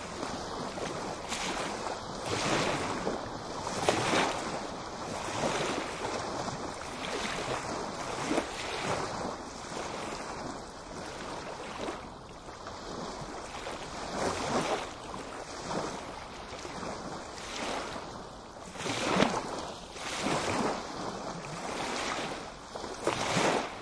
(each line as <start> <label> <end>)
0.0 waves 23.8